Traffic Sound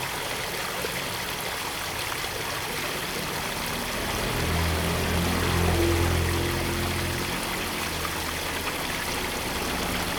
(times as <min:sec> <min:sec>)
0:03.1 0:10.1